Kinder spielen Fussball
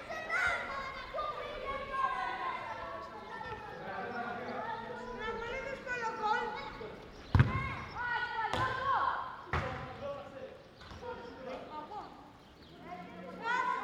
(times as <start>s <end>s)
7.3s 7.9s